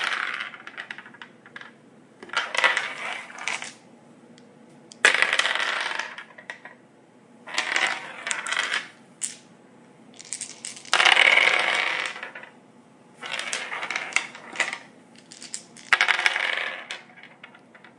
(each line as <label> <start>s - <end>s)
d12's rolling on various surfaces 13.2s - 17.9s